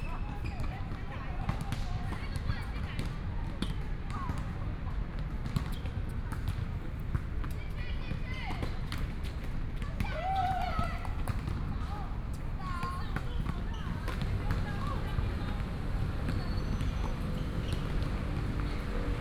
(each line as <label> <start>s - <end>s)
Basketball 0.0s - 19.2s
Traffic Sound 13.9s - 19.2s